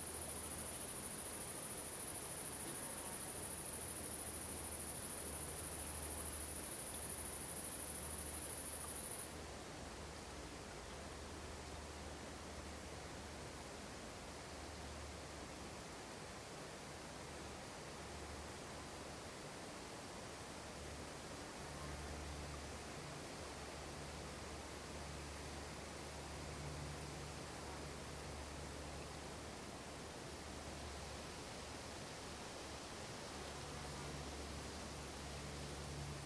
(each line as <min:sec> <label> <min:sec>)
0:00.0 quiet lake 0:36.2